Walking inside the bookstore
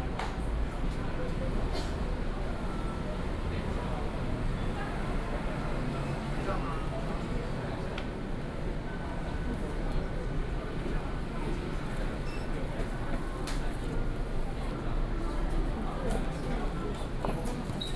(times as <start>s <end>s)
10.4s 17.9s